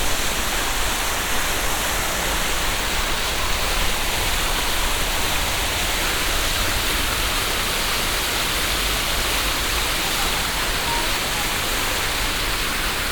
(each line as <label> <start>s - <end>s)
big old sparkling sculpture fountain 0.0s - 13.1s